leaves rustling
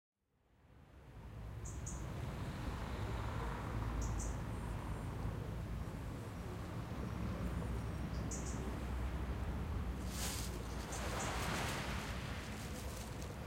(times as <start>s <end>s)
9.9s 13.4s